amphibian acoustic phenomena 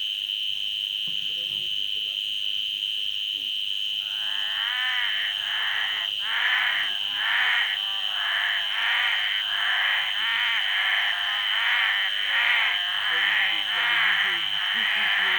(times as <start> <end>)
4.0 15.3